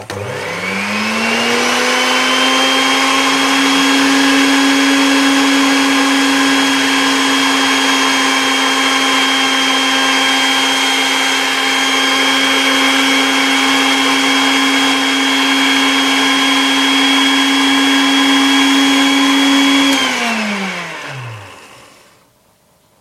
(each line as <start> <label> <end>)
0.0 food mixer running at full speed 22.2